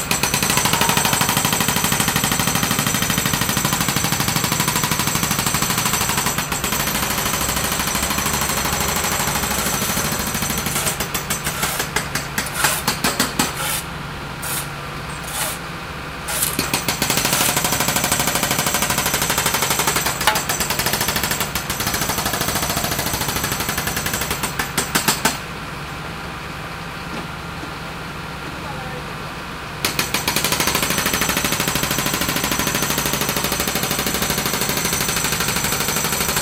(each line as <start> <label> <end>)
0.0 jackhammer 13.8
0.0 excavation 24.9
0.0 workers 26.0
16.3 jackhammer 25.4
29.8 jackhammer 36.4